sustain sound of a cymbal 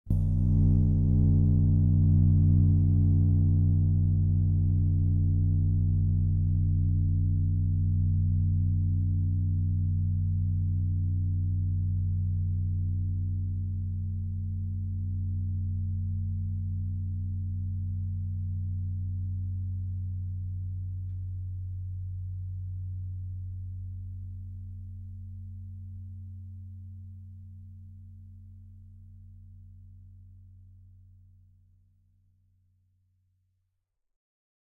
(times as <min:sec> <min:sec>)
0:00.1 0:19.6